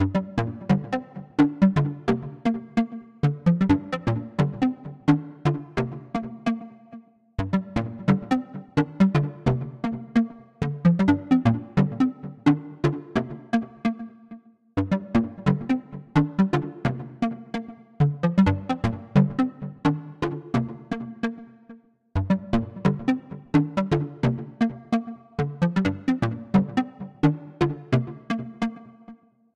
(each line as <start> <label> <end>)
0.0 Keyboard 29.3